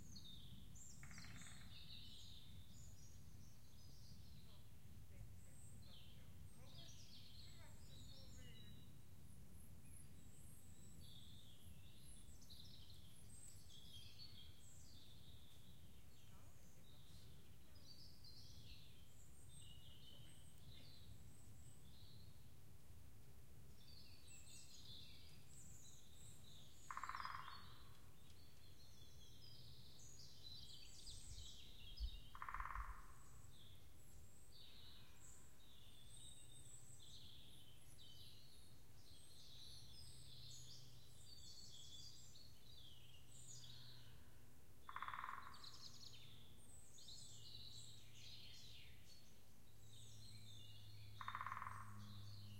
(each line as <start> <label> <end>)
0.0 woodpecker 4.4
23.8 woodpecker 34.0
34.7 woodpecker 52.5